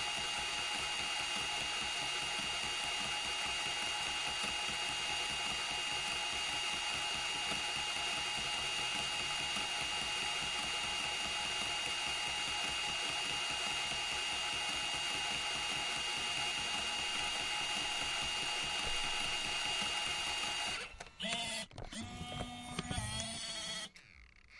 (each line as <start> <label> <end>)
0.0 rewind 24.5
0.0 working Sony CCD-TR55E Video8 Camcorder 24.5